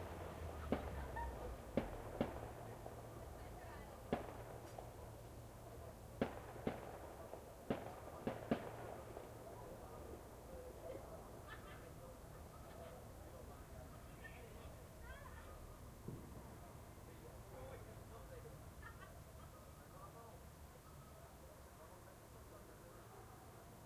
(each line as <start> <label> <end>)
0.0 firework launch 10.2